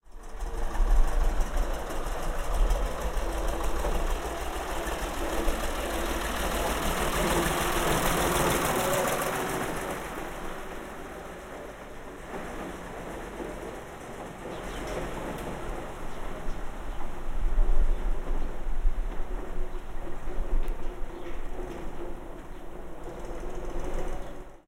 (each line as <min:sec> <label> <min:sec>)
0:00.0 passing by tractor 0:24.6